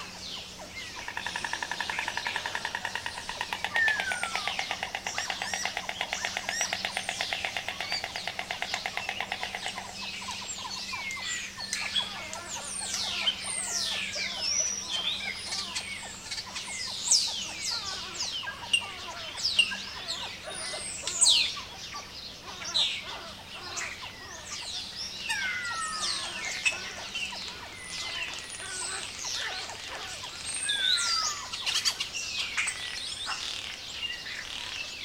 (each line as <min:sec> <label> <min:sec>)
0:00.0 insects 0:35.0
0:25.6 White Storks in a nest 0:32.1